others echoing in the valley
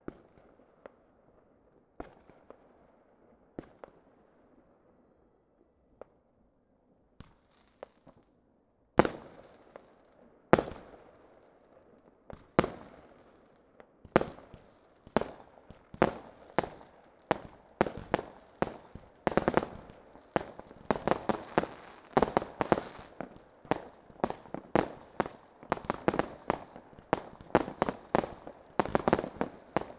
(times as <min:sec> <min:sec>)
0:14.4 0:29.9